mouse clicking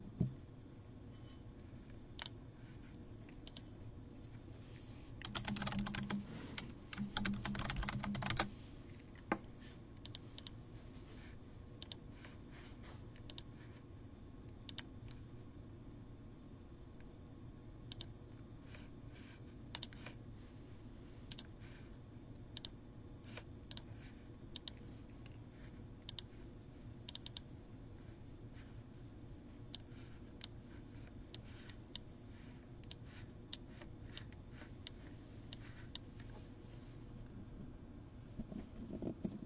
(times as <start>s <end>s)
2.2s 2.4s, 10.0s 10.6s, 13.2s 13.5s, 14.7s 15.2s, 24.5s 24.8s, 26.0s 26.3s